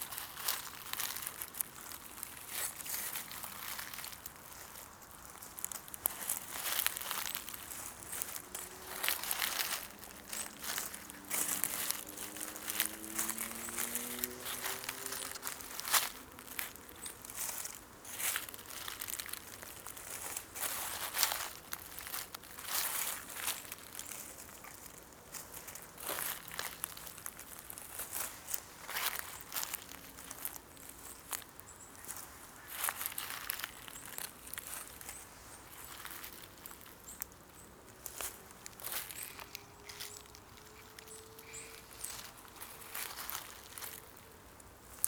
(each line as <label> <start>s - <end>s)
steps barefoot on oak dead leaves, acorns and brushes 0.0s - 45.0s